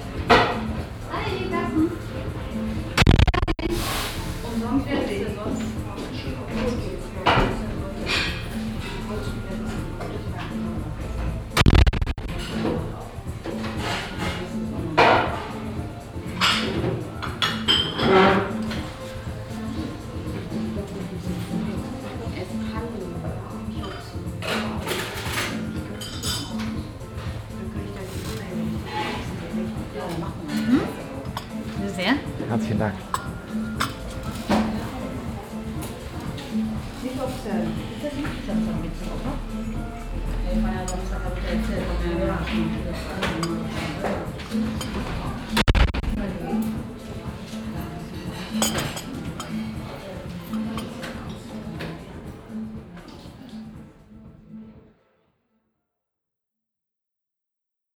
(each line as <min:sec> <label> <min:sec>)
0:00.0 guests talking 0:16.4
0:00.0 music 0:56.0
0:01.1 voice of the waitress 0:02.3
0:04.4 voice of the waitress 0:11.1
0:18.5 guests talking 0:53.6
0:19.5 voice of the waitress 0:24.8
0:27.6 voice of the waitress 0:32.4
0:34.6 voice of the waitress 0:47.3